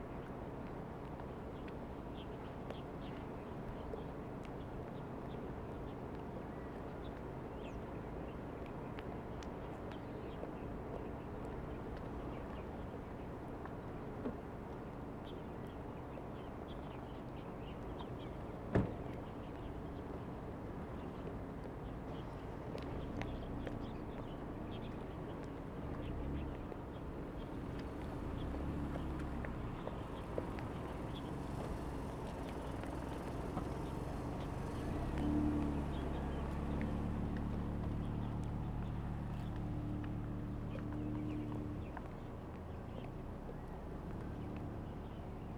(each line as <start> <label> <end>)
21.8 Birds singing 39.6